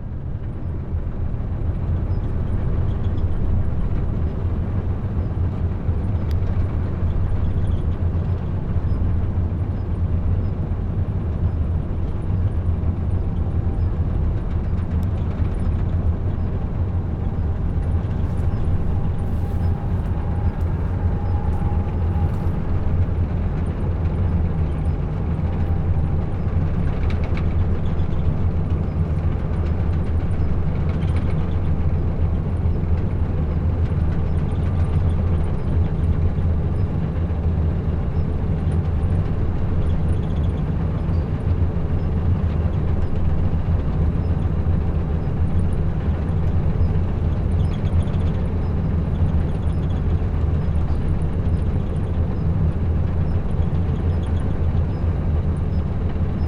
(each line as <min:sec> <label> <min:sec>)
0:04.4 conveyor belt 0:36.9